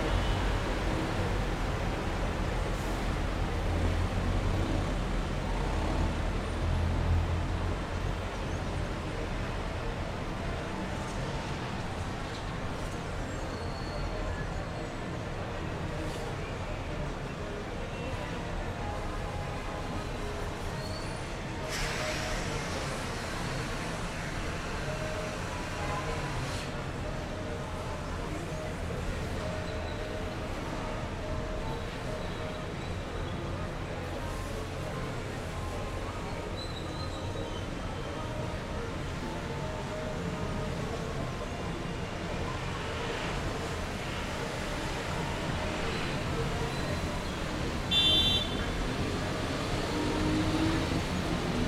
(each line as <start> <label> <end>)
0.0 pitos de diferentes vehículos 51.6
43.0 ruido de automóviles, motos y buces 51.6